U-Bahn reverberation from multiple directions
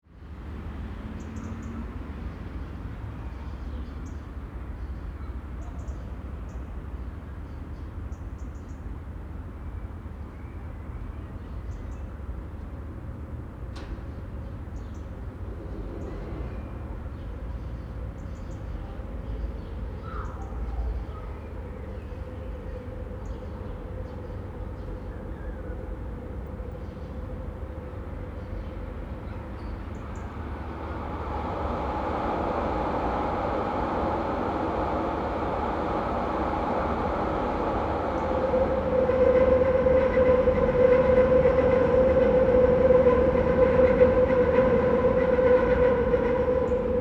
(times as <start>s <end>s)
18.6s 47.0s